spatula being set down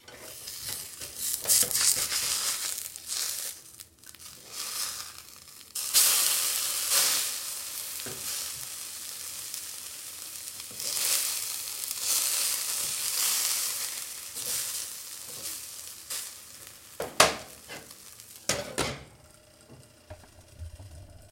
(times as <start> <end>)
18.5 19.1